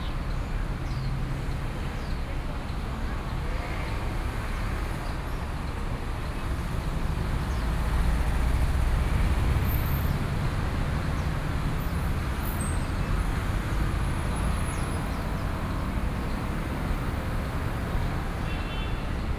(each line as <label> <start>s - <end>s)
traffic noise 0.0s - 19.3s